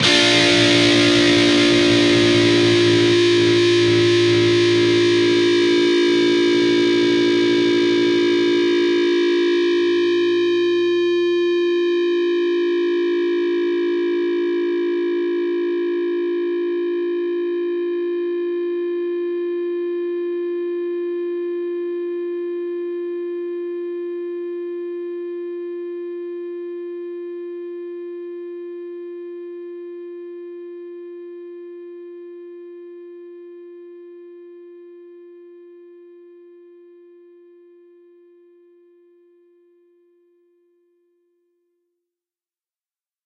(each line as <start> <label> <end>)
0.0 distorted guitar 11.8